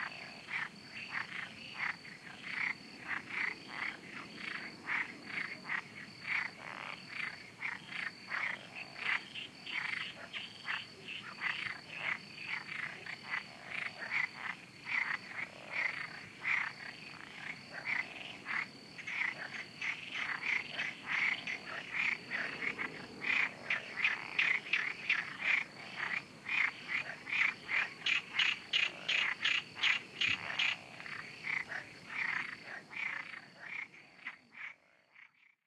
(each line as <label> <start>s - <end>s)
crickets 0.0s - 35.6s
Frogs 0.0s - 35.6s
insects 0.0s - 35.6s